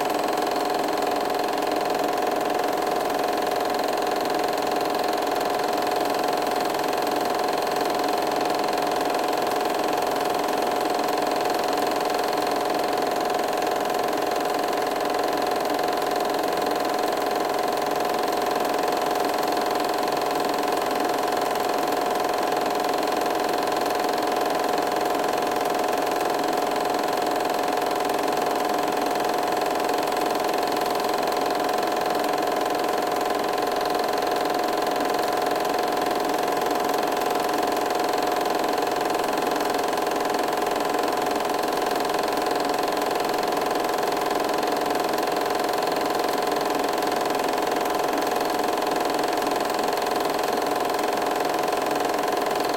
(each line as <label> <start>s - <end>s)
8mm projector sound 0.0s - 52.7s